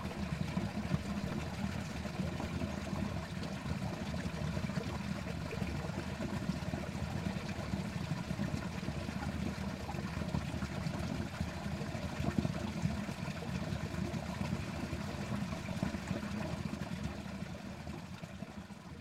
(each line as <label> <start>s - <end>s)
stream running under farm 0.0s - 19.0s